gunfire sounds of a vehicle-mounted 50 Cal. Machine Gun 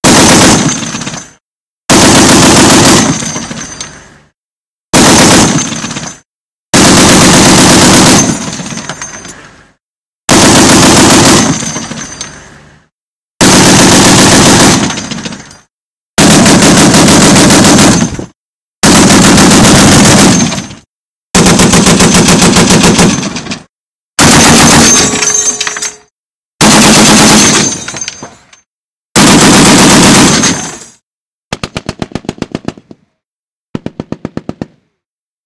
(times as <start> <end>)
0.0 1.2, 1.9 3.4, 5.0 6.2, 6.8 8.6, 10.3 11.9, 13.4 15.4, 16.2 20.8, 21.4 23.4, 24.2 25.1, 26.6 27.8, 29.2 30.7, 31.5 33.0, 33.8 34.8